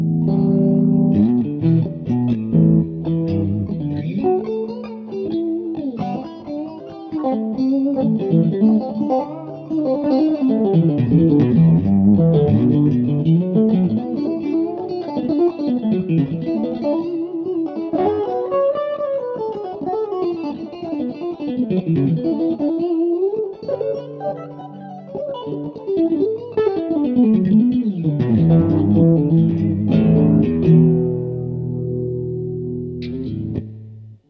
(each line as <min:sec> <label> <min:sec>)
0:00.0 guitar 0:34.2